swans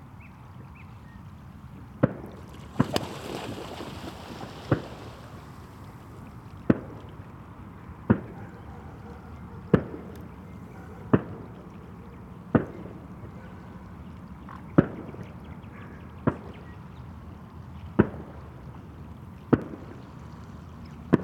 2.4s 17.2s

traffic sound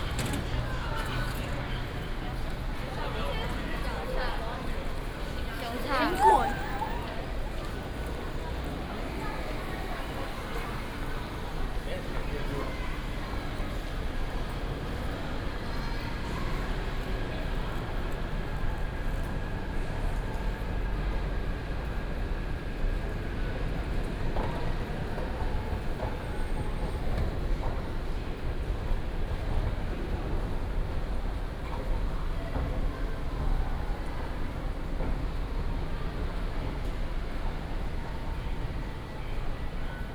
0.0s 14.8s

